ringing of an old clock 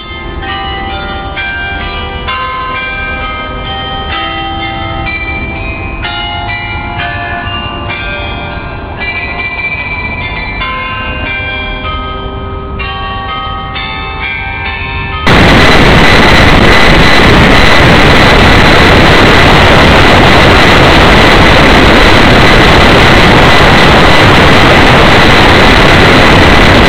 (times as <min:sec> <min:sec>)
0:00.0 0:15.3